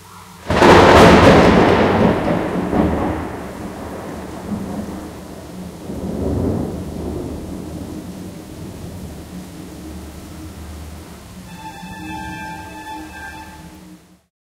0.4s thunder 10.2s

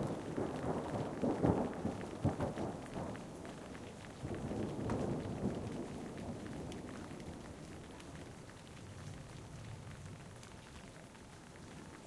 0.0s thunder 3.3s
0.0s hail 12.0s
0.0s rain 12.0s
4.2s thunder 7.7s

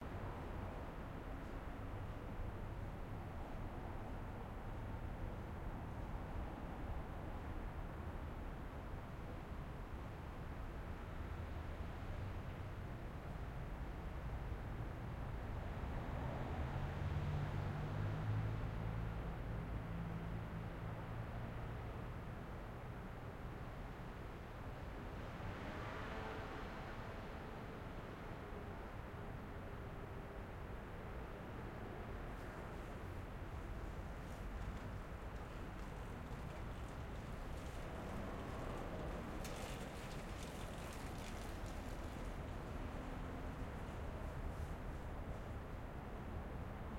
31.2s Rumble 46.9s

